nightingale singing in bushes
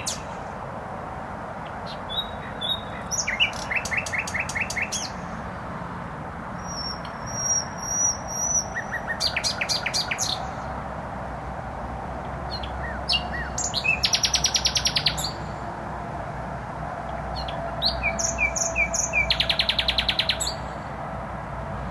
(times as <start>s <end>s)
0.0s 0.8s, 1.6s 5.8s, 6.4s 10.9s, 12.2s 15.8s, 17.0s 21.0s